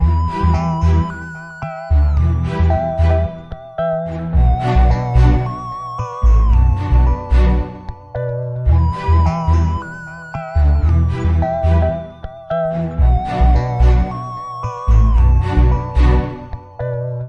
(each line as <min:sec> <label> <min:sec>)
0:00.0 beat 0:17.2
0:00.0 strings 0:17.2
0:00.0 synthesizer 0:17.2